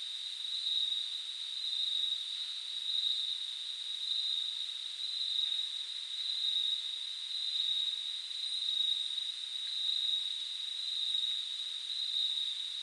Deep night insects 0:00.0 - 0:12.8

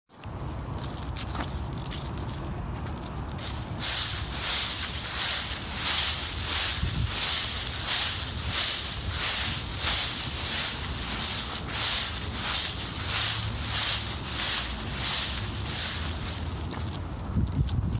Walking through autumn leaves 0:00.1 - 0:17.9

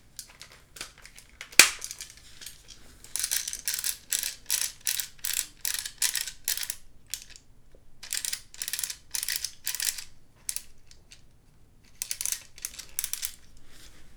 Airsoft MP5 Mag charging the spring feeder 0:01.5 - 0:02.0

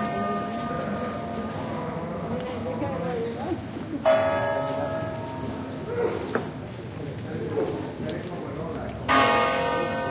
slow pealing from church bells 0:00.0 - 0:06.7
people walking and talking 0:00.0 - 0:10.1
street noise 0:00.0 - 0:10.1
slow pealing from church bells 0:09.0 - 0:10.1

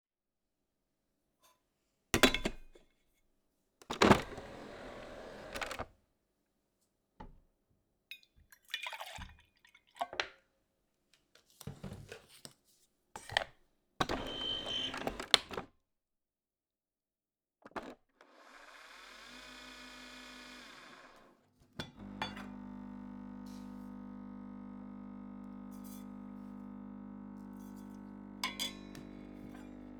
Making a Nespresso Virtuo coffee 0:18.3 - 0:29.9
putting cup down on a hard surface 0:21.8 - 0:22.5
putting cup down on a hard surface 0:28.4 - 0:29.7

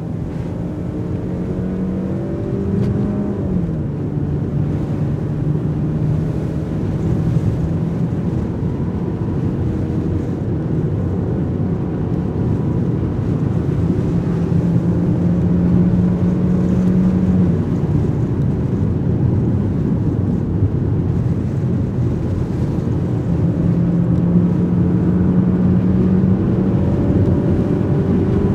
convertible BMW, with rooftop down 0:00.0 - 0:28.5

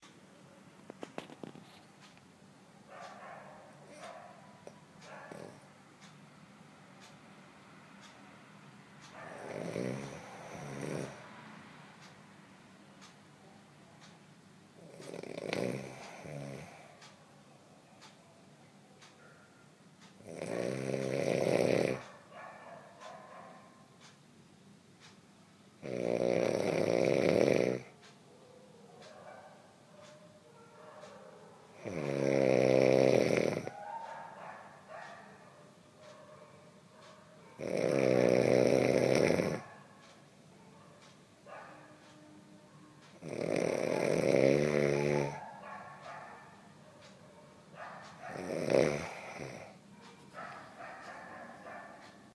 Snoring during a sleep 0:09.3 - 0:11.3
Snoring during a sleep 0:14.8 - 0:16.9
Snoring during a sleep 0:20.2 - 0:22.0
Snoring during a sleep 0:25.8 - 0:27.9
Snoring during a sleep 0:31.8 - 0:33.8
Snoring during a sleep 0:37.6 - 0:39.6
Snoring during a sleep 0:43.2 - 0:45.4
Snoring during a sleep 0:48.3 - 0:49.8

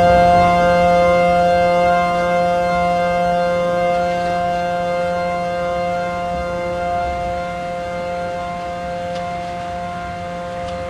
Siren 0:00.0 - 0:10.8
Thunder 0:00.0 - 0:10.8

